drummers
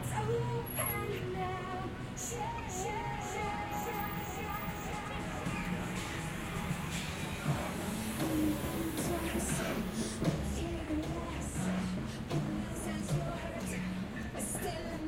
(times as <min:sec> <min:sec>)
0:04.3 0:14.6